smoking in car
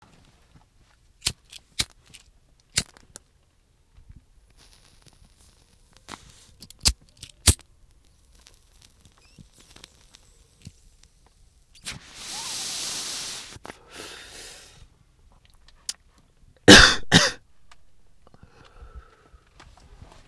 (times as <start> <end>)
8.0 14.9